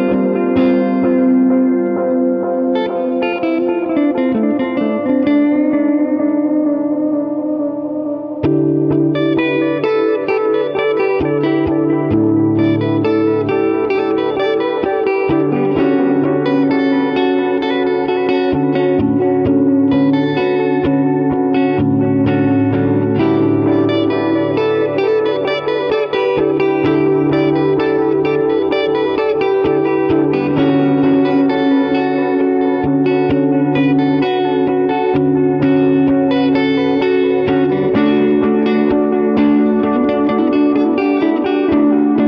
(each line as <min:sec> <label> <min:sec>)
0:00.0 electric guitar 0:42.2